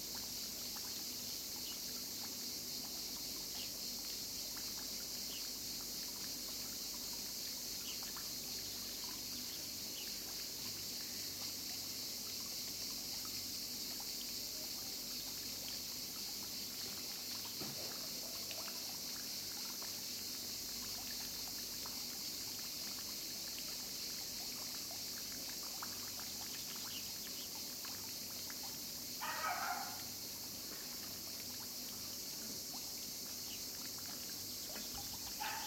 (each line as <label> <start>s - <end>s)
cicadas are chirping 0.0s - 35.6s